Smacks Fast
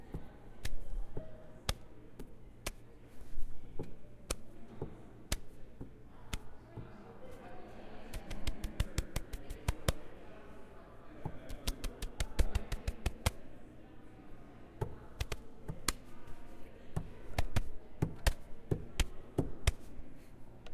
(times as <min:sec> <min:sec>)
0:08.1 0:10.0, 0:11.5 0:13.4, 0:15.2 0:16.1